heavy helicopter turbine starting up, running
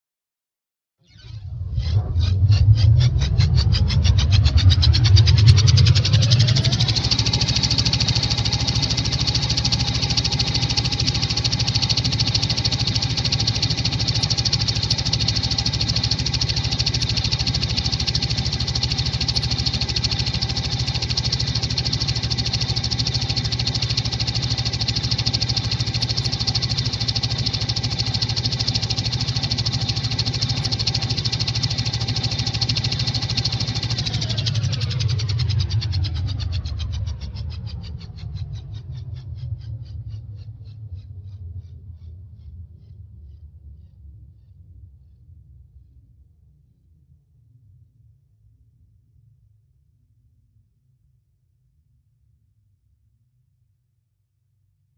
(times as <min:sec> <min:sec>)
0:01.1 0:41.0